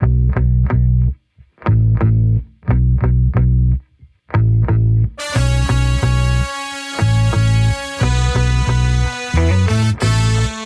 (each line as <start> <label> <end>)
5.2 Modern Roots Reggae 10.6